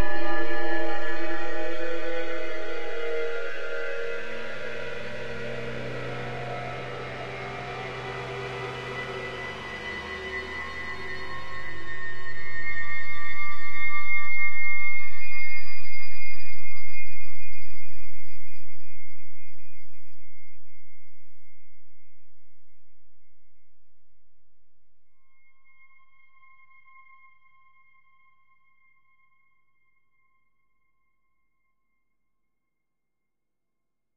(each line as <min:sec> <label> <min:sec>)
0:00.0 drone 0:19.2